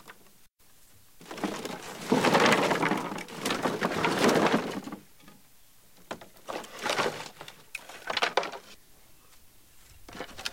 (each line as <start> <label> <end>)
1.2 Wood-handling 5.4
6.0 Wood-handling 8.8